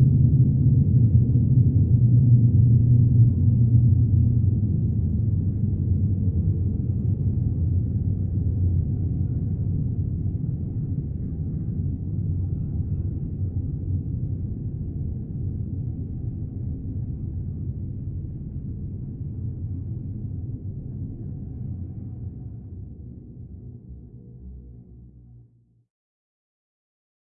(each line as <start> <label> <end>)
14.2 drone 25.6